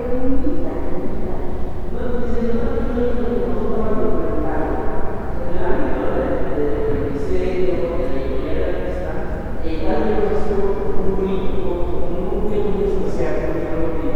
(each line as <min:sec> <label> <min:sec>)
0:00.0 one of the guides gives information to a group of visitors 0:14.1